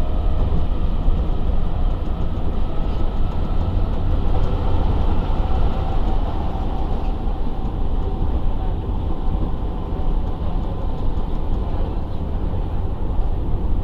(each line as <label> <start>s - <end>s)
metro 0.0s - 13.8s